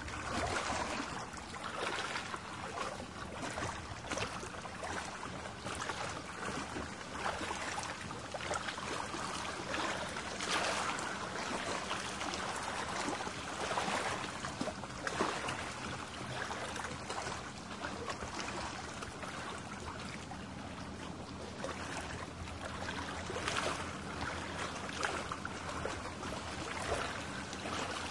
Water Lap 0:00.0 - 0:28.1

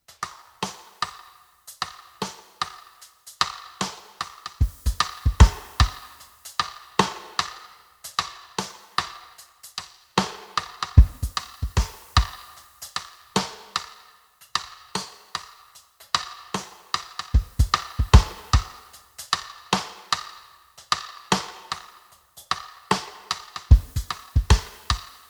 Live Studio Drums 0:00.0 - 0:25.2

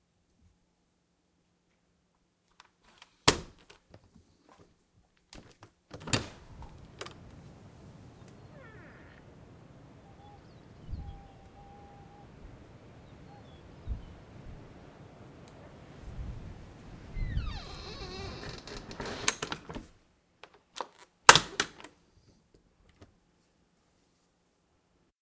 wind 0:00.0 - 0:25.1
closing and locking the door 0:02.9 - 0:03.8
closing and locking the door 0:05.3 - 0:07.2
opening the door 0:05.4 - 0:07.2
unlocking door and deadbolt 0:05.4 - 0:07.2
birds outside 0:06.4 - 0:16.0
creak 0:08.4 - 0:09.2
opening the door 0:08.4 - 0:09.2
creak 0:17.2 - 0:19.8
closing and locking the door 0:17.2 - 0:19.9
opening the door 0:17.2 - 0:19.9
unlocking door and deadbolt 0:17.6 - 0:19.8
unlocking door and deadbolt 0:20.7 - 0:21.9
closing and locking the door 0:20.8 - 0:21.9

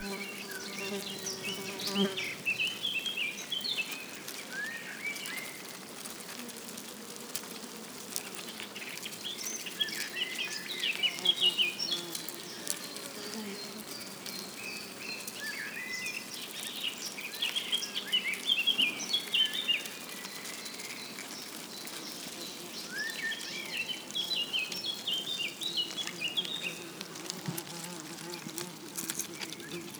Red Wood Ant Rustle Crawl 0:00.0 - 0:29.9

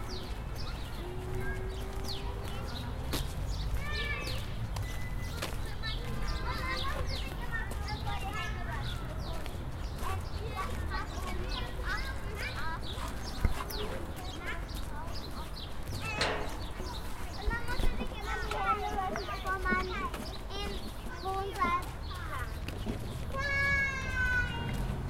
walk 0:00.0 - 0:25.0

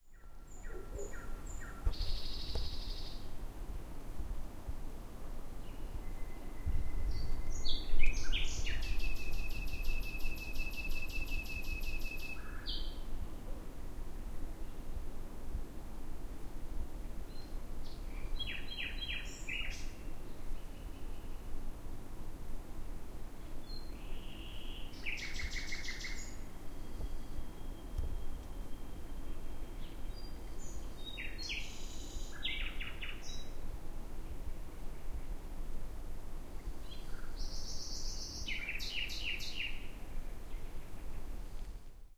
forest birds 0:00.0 - 0:03.4
forest birds 0:05.5 - 0:13.6
forest birds 0:17.0 - 0:21.6
forest birds 0:23.4 - 0:35.5
forest birds 0:36.4 - 0:41.9

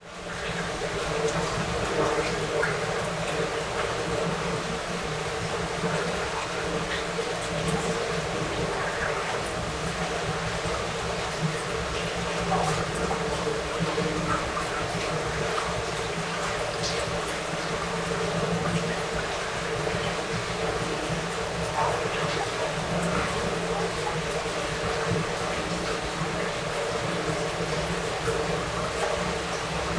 Water flowing in an Urban Stormwater drain 0:00.0 - 0:29.9

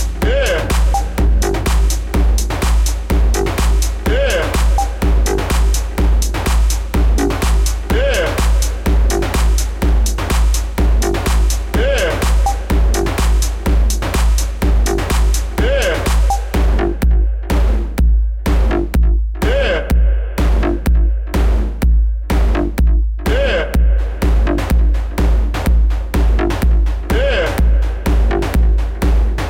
Synths 0:00.0 - 0:17.5
beat 0:00.0 - 0:29.4
voice 0:00.2 - 0:01.2
voice 0:04.0 - 0:05.0
voice 0:07.9 - 0:08.7
voice 0:11.8 - 0:12.7
voice 0:15.6 - 0:16.5
voice 0:19.4 - 0:20.0
voice 0:23.3 - 0:23.8
voice 0:27.1 - 0:27.7

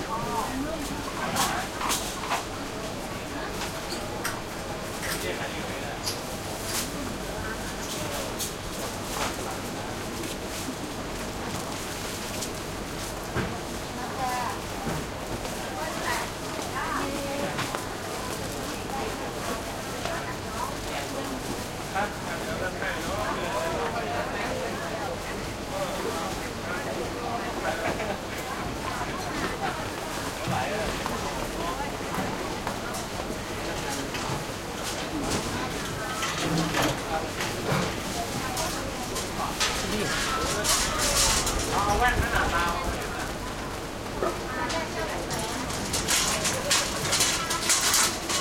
busy voices 0:13.7 - 0:48.4
metal carts pushed by 0:33.7 - 0:48.4
wok cooking 0:38.8 - 0:48.4

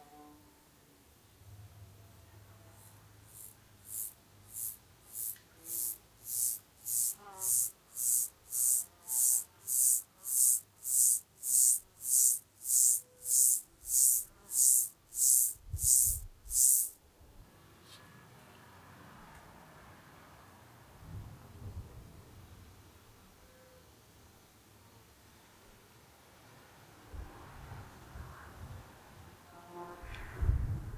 wind 0:00.0 - 0:30.9
bees 0:03.3 - 0:16.9

